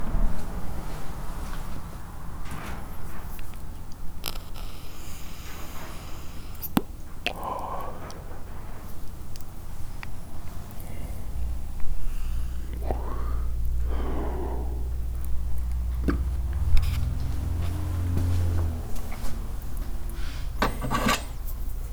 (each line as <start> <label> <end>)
3.4 crackle 8.2
20.6 tools 21.4